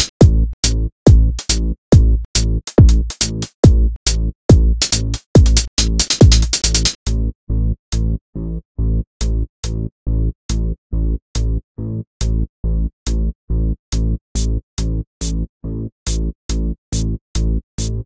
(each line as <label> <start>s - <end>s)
Drum loop 0.0s - 7.0s